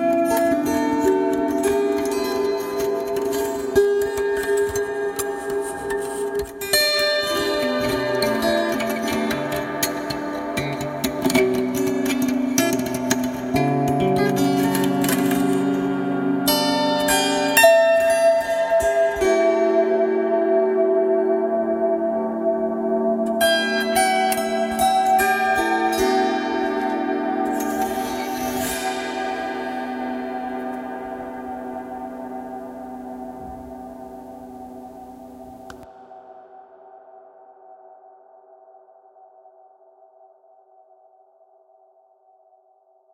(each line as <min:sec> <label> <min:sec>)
0:00.0 zither 0:36.5